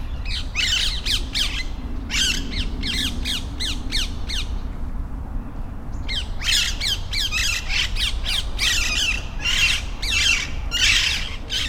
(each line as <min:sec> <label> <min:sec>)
0:00.0 flock of free living, green parrots 0:04.7
0:00.0 traffic noise 0:11.6
0:05.8 flock of free living, green parrots 0:11.6